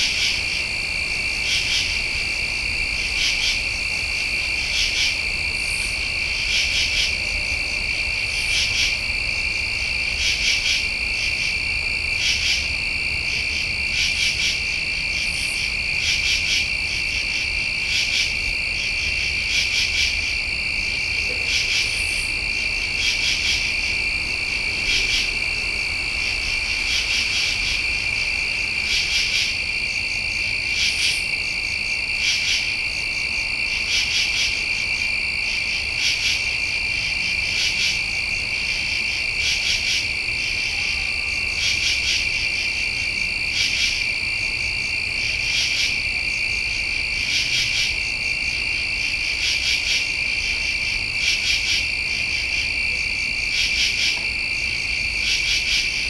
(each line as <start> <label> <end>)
0.0 night insects 56.0